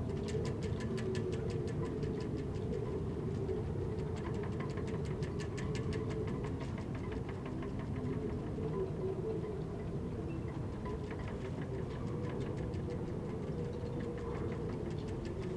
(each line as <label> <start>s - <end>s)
wind blows through the rigging 0.0s - 15.5s